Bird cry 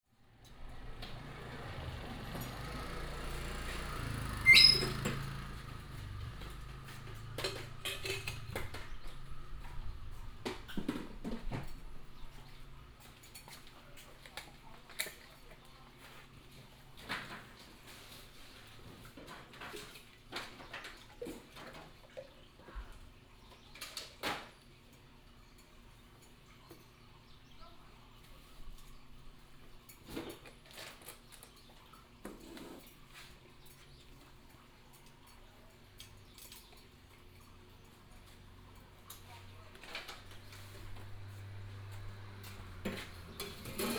4.4 5.0

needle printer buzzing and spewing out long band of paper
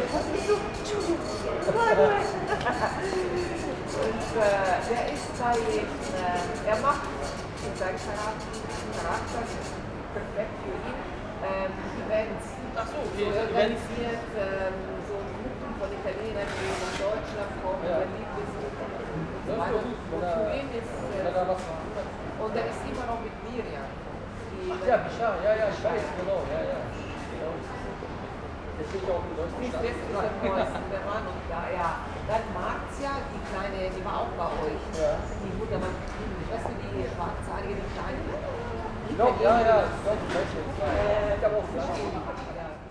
0.0 9.8

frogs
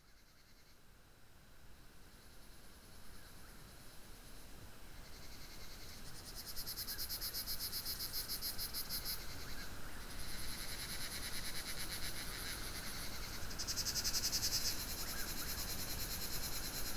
5.0 16.9

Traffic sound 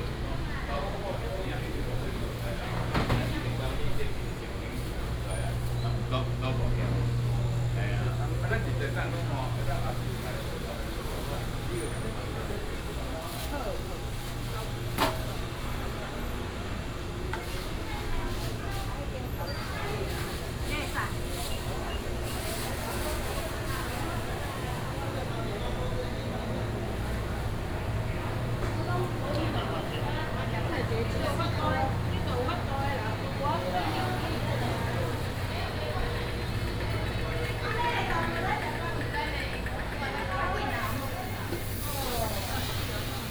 23.8 43.3

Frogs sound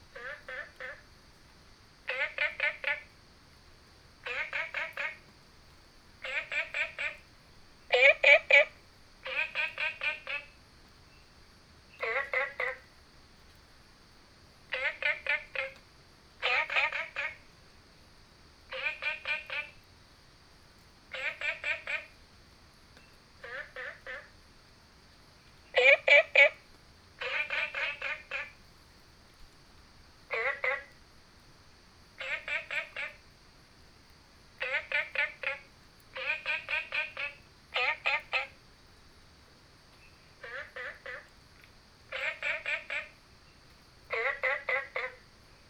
0.0 1.1, 2.0 3.2, 4.2 13.0, 14.7 15.8, 16.4 17.5, 18.7 19.9, 21.1 22.2, 23.0 24.4, 25.6 28.8, 30.3 31.0, 32.2 33.4, 34.6 38.6, 40.0 45.6

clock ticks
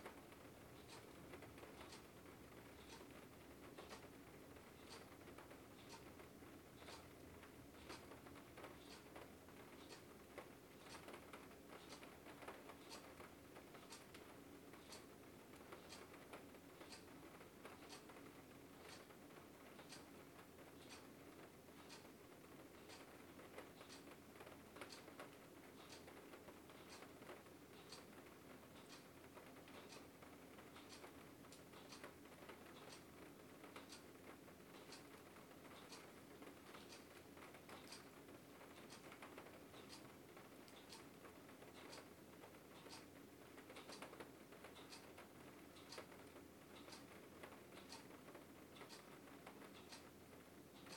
0.8 2.1, 2.8 3.1, 3.7 4.0, 4.8 6.1, 6.8 11.1, 11.8 13.2, 13.8 16.2, 16.8 17.1, 17.7 18.1, 18.8 19.1, 19.8 20.1, 20.8 21.1, 21.8 22.1, 22.8 23.1, 23.8 24.1, 24.8 27.1, 27.8 28.1, 28.7 29.1, 29.7 30.1, 30.7 33.1, 33.7 34.1, 34.7 35.1, 35.7 36.1, 36.7 38.2, 38.8 40.1, 40.7 41.1, 41.7 42.1, 42.8 43.1, 43.7 45.2, 45.8 48.1, 48.8 50.1, 50.7 50.9

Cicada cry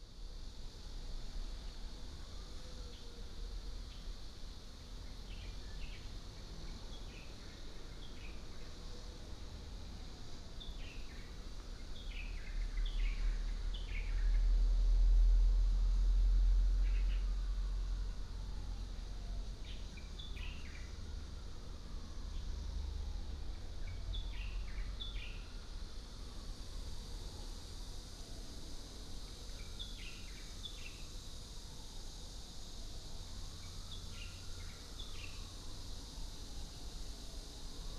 16.7 26.2, 28.9 32.8, 33.5 37.9

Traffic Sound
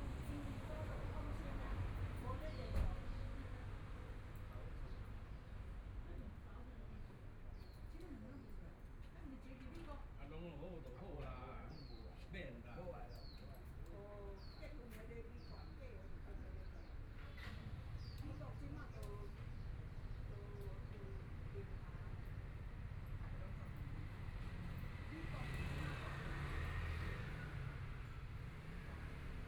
21.0 29.4

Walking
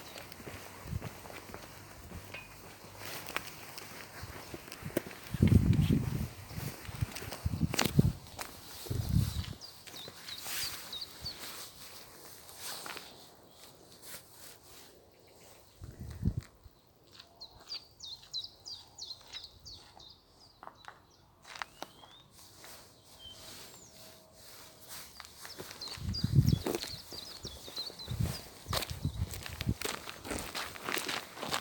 0.0 13.1, 24.4 31.6

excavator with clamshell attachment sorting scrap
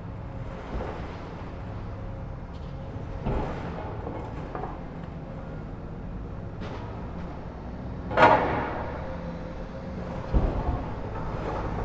6.0 11.8

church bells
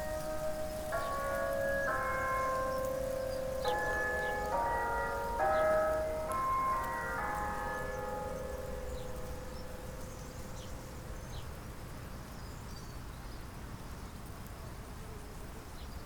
0.0 12.2

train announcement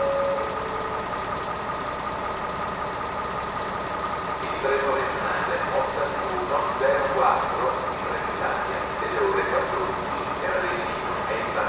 0.0 1.4, 4.4 11.6

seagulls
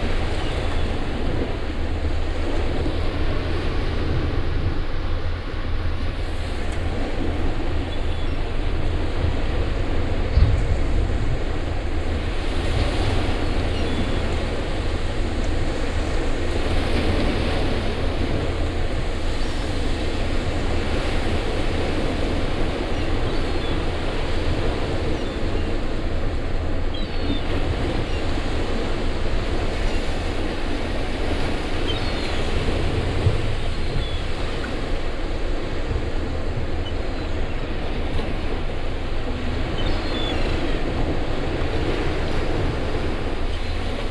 39.6 40.9

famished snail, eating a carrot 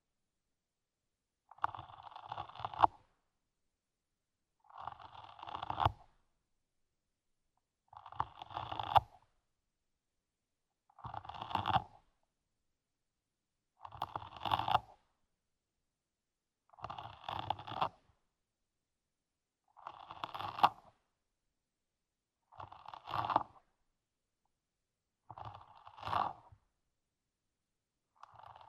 1.5 3.1, 4.6 6.2, 7.9 9.3, 11.0 12.0, 13.9 15.1, 16.7 18.0, 19.6 21.0, 22.4 23.7, 25.2 26.6, 28.0 28.6

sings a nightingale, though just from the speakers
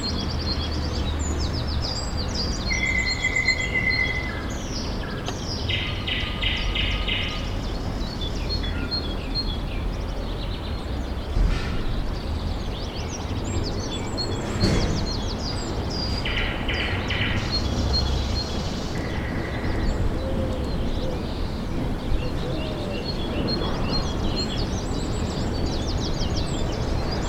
0.0 11.2

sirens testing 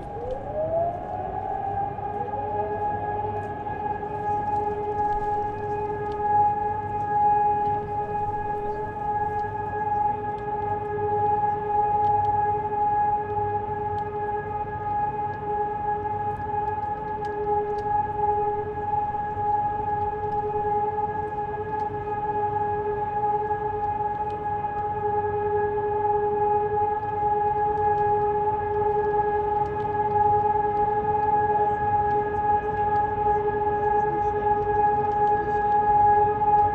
0.0 9.6, 16.6 22.0

